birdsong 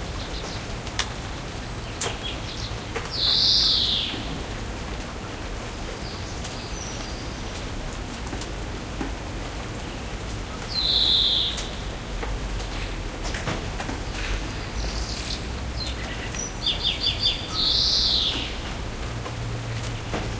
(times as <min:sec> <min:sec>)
0:01.8 0:04.6, 0:10.6 0:11.9, 0:14.1 0:18.8